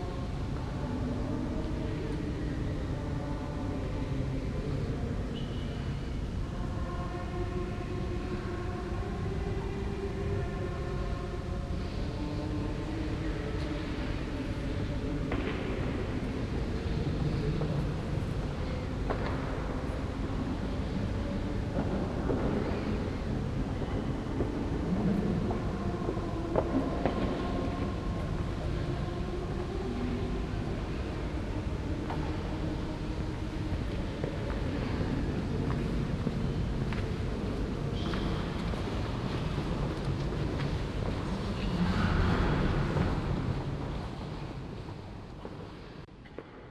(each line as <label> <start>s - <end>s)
people whispering 0.0s - 46.4s